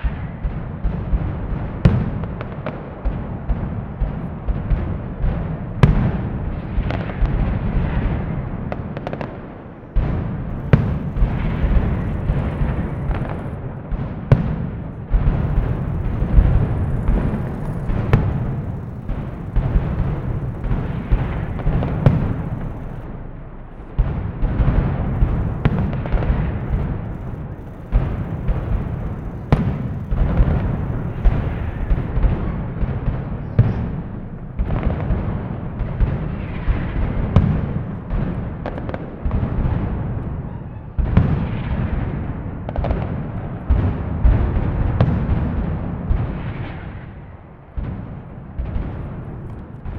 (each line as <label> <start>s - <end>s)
fireworks 0.0s - 49.9s